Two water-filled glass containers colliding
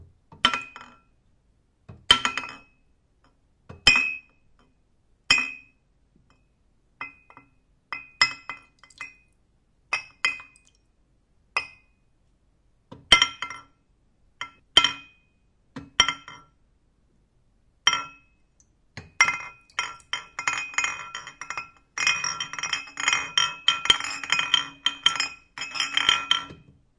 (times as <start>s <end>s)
0.3s 1.1s, 1.9s 2.8s, 5.3s 6.4s, 7.0s 10.8s, 11.6s 11.9s, 12.9s 13.8s, 14.4s 15.2s, 15.8s 16.6s, 17.9s 26.8s